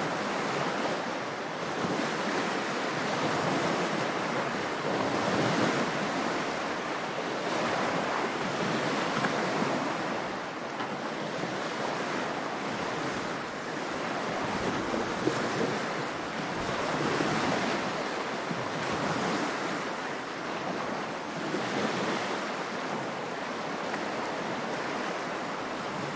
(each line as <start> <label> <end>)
0.0 Waves break on a small beach 26.1